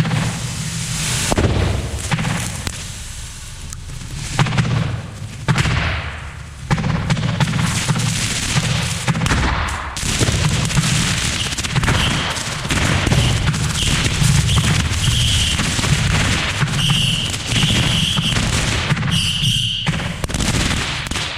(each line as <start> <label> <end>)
0.0 hissing of the fire shower 19.6
0.0 Fireworks 21.3